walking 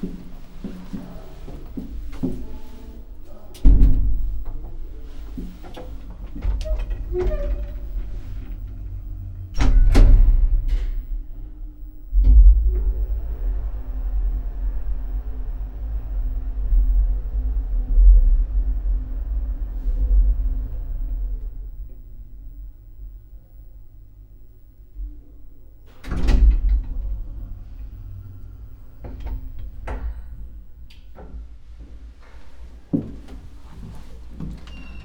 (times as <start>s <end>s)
0.0s 2.9s, 31.7s 35.0s